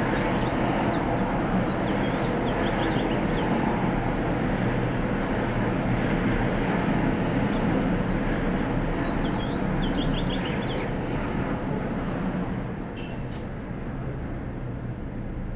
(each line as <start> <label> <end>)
0.0 Sidewalk Birdsong 12.8
0.0 traffic 15.5